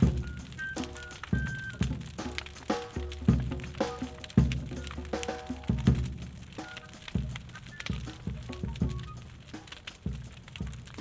big fire 0:00.0 - 0:11.0
live drums 0:00.0 - 0:11.0

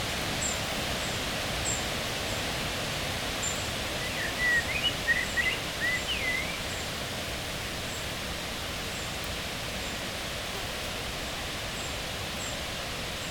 wind in the leaves 0:00.0 - 0:13.3

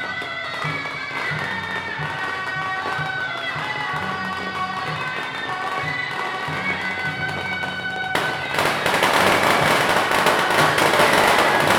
Firecrackers 0:00.0 - 0:11.7
Traditional festival parade 0:00.0 - 0:11.7
Fireworks sound 0:08.2 - 0:11.7

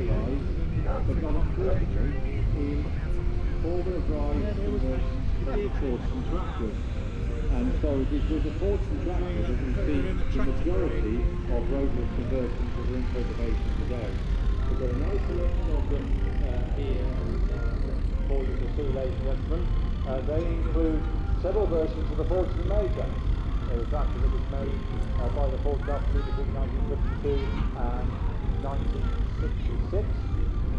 engines modern and old 0:00.0 - 0:30.7
voices 0:00.0 - 0:30.7
road building 0:10.4 - 0:30.7
steam organ 0:11.5 - 0:30.7

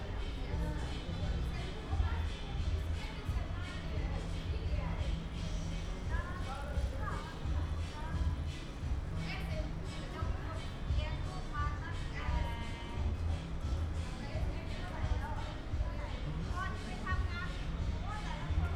music 0:00.0 - 0:18.7
voices 0:00.0 - 0:18.7

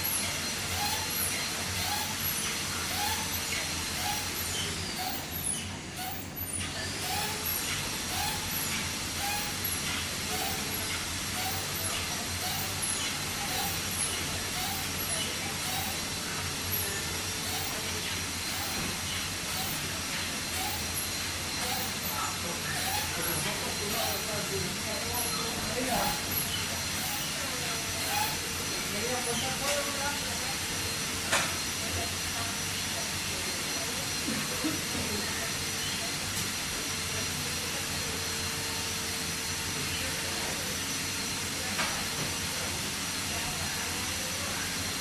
small fish factory 0:00.0 - 0:45.0

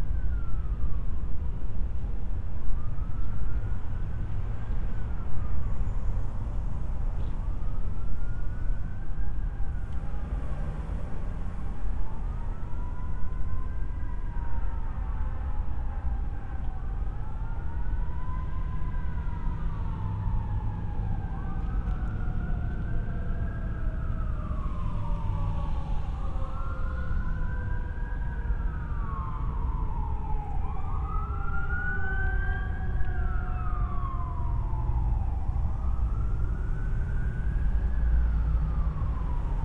sirens 0:00.0 - 0:39.6
people walking in the parking lot 0:20.4 - 0:25.4

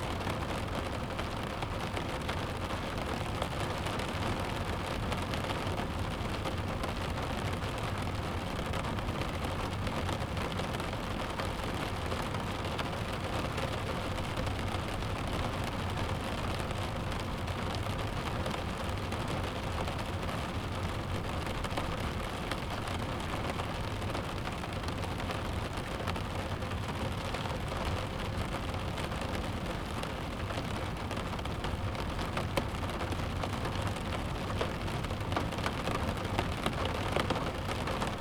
Heavy rain 0:00.0 - 0:38.2

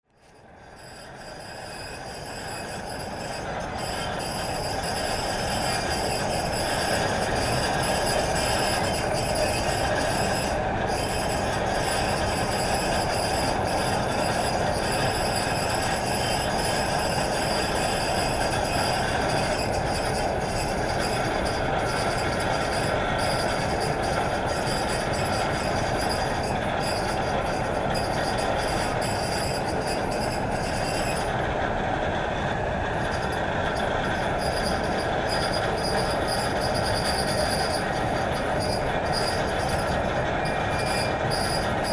old rusty conveyor 0:00.1 - 0:41.9

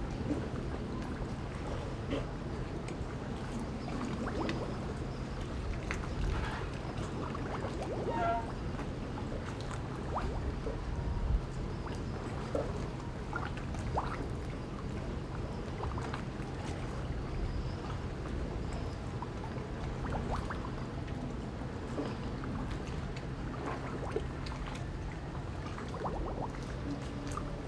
Waves and tides 0:00.0 - 0:27.6

